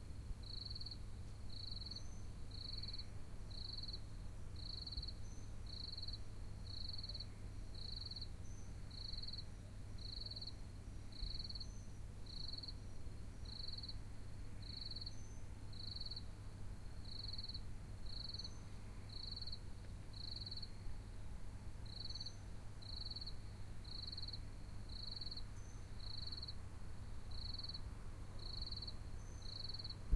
crickets 0:00.4 - 0:30.1

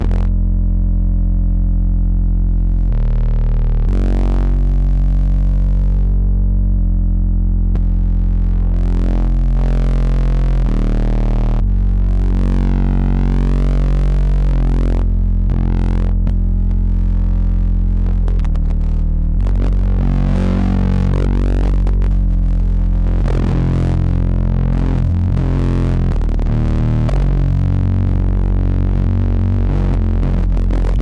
Bass Loop 0:00.0 - 0:31.0

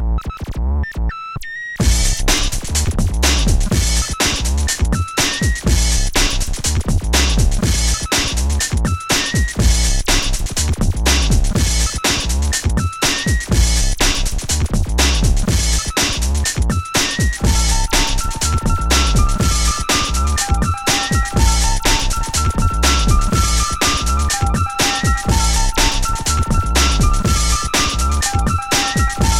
breakbeats 0:00.0 - 0:29.3
synth 0:17.4 - 0:29.3

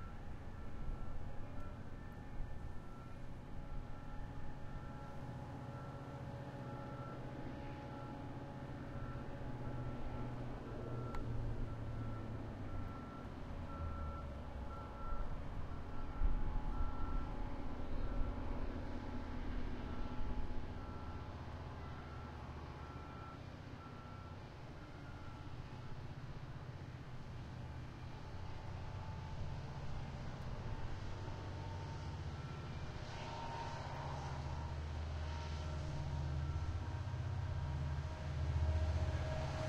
Diesel engine noise 0:00.0 - 0:39.6
wind 0:00.0 - 0:39.6
train heading south 0:24.5 - 0:39.6
train horn fading in the distance 0:28.3 - 0:39.6

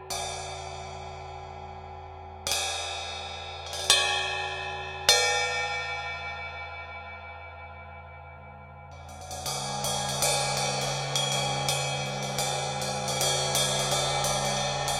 Turkish Ride Cymbal 0:00.0 - 0:08.2
Turkish Ride Cymbal 0:08.8 - 0:14.9

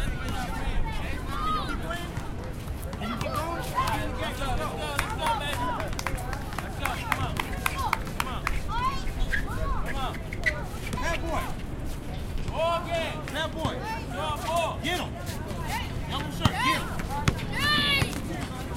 Street basketball 0:00.0 - 0:11.8
Street basketball 0:12.4 - 0:18.7

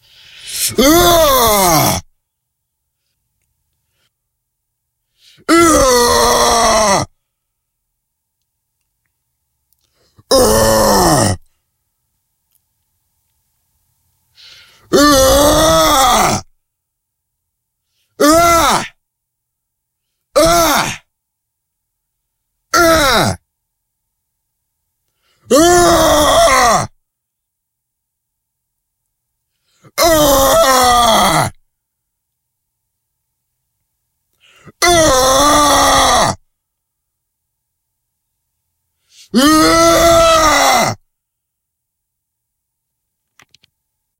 Male Aggressive Growls 0:10.3 - 0:11.4
Male Aggressive Growls 0:14.9 - 0:16.5

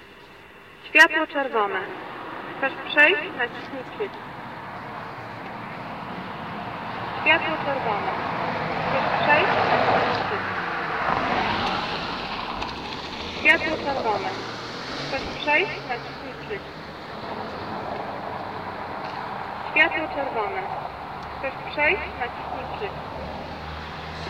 traffic lights message 0:00.0 - 0:23.1
passing cars 0:00.0 - 0:24.2

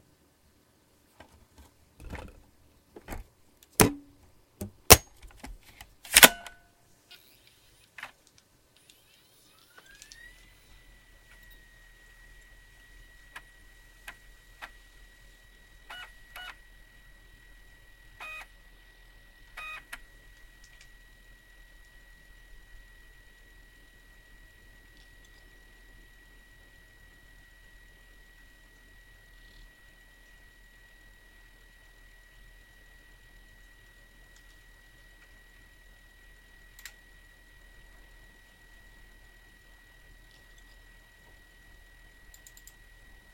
hard drive noises 0:01.1 - 0:43.3
drive whine 0:01.2 - 0:43.3
ejecting a DVD-R in a USB disc drive 0:08.8 - 0:43.3
mouse clicks 0:42.3 - 0:42.8

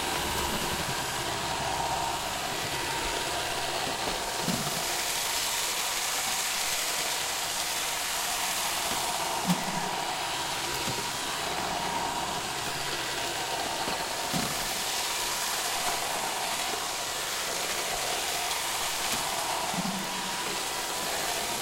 Roomba robotic vacuum cleaning carpet and tile 0:00.0 - 0:21.6

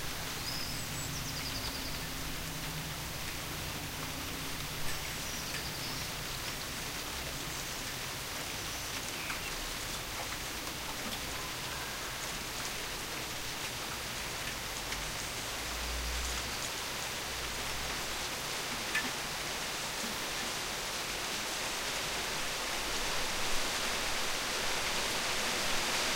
Rain 0:00.0 - 0:26.1
Wind 0:00.0 - 0:26.1

